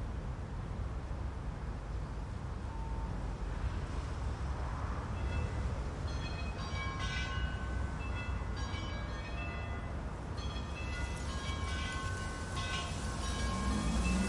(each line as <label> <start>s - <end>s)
wind in the trees and plants 0.0s - 14.2s
clock tower ringing 12 bells 6.1s - 14.2s
leaves on the ground moving around 11.9s - 14.2s